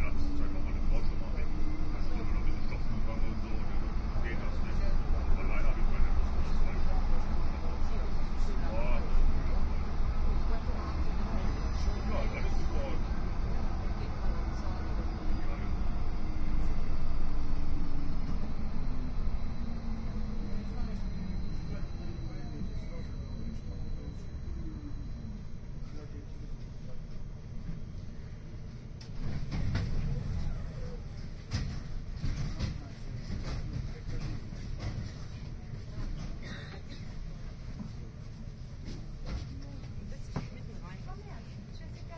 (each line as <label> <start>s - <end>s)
people chatting 0.0s - 17.1s
announcements 0.0s - 28.1s
tram 0.0s - 42.1s
people chatting 19.9s - 27.2s
people chatting 39.4s - 42.1s